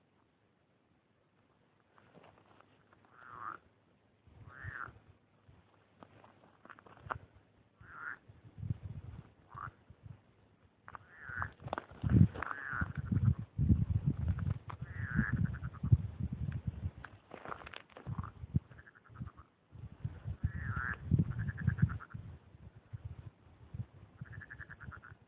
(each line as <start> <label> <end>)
3.0 frogs croaking 3.7
4.4 frogs croaking 5.0
7.8 frogs croaking 8.3
9.4 frogs croaking 9.8
10.9 frogs croaking 11.7
12.4 frogs croaking 13.5
14.8 frogs croaking 16.0
18.0 frogs croaking 19.6
20.4 frogs croaking 22.2
24.2 frogs croaking 25.2